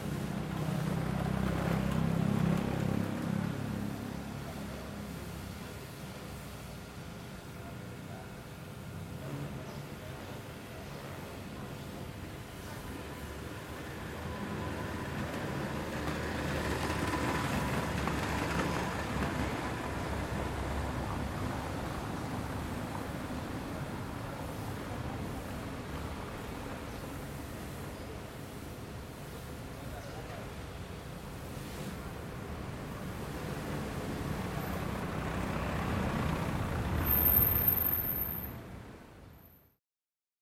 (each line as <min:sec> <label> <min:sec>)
0:00.0 people passing by, talking 0:39.0
0:00.0 Mild traffic 0:39.8